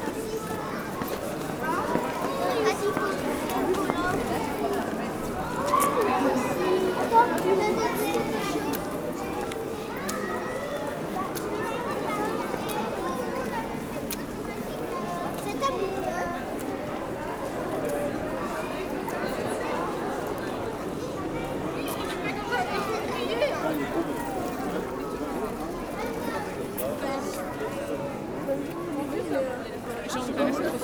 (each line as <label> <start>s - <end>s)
children 0.0s - 30.8s